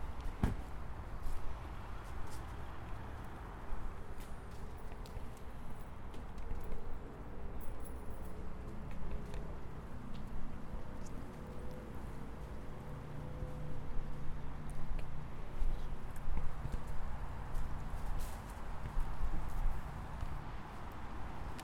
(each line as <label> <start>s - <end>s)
traffic 0.0s - 21.6s